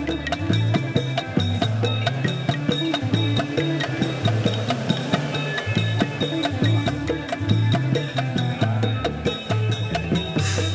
Surf 0:00.0 - 0:10.7
band 0:00.0 - 0:10.7

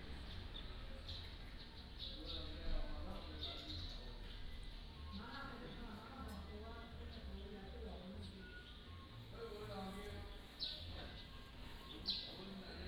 Birds singing 0:10.2 - 0:12.6

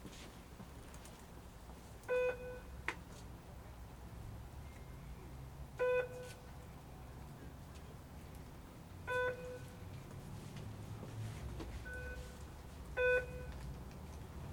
Periodic beeps from overhead speakers 0:02.1 - 0:02.7
Periodic beeps from overhead speakers 0:05.8 - 0:06.4
Periodic beeps from overhead speakers 0:09.0 - 0:09.8
Periodic beeps from overhead speakers 0:11.8 - 0:13.6

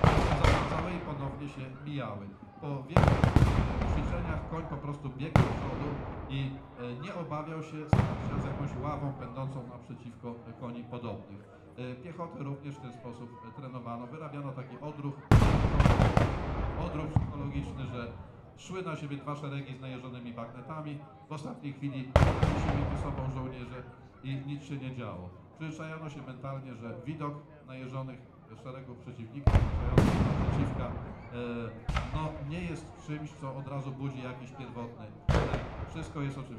Battle 0:00.0 - 0:01.8
Battle 0:02.9 - 0:06.7
Battle 0:07.9 - 0:09.3
Battle 0:15.3 - 0:18.1
Battle 0:22.2 - 0:23.8
Battle 0:29.4 - 0:33.0
Battle 0:35.3 - 0:36.5

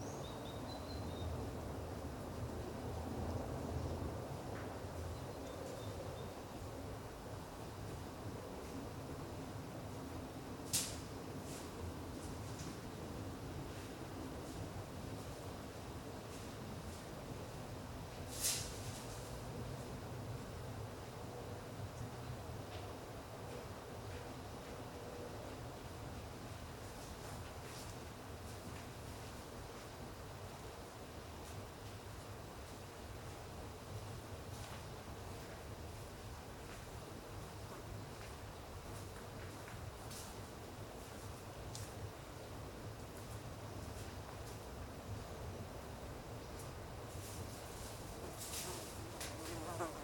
train 0:18.3 - 0:26.8

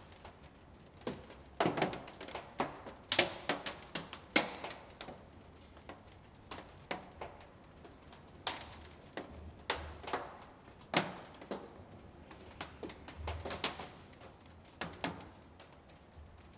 Rain dripping on plastic 0:00.0 - 0:16.5

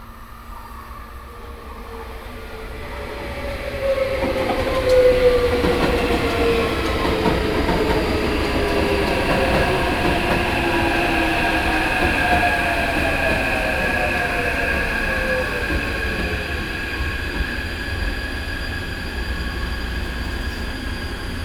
MRT trains arrive 0:00.0 - 0:21.4

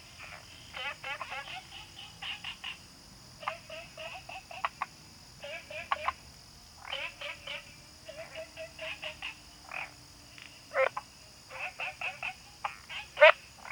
Frogs chirping 0:00.0 - 0:13.7

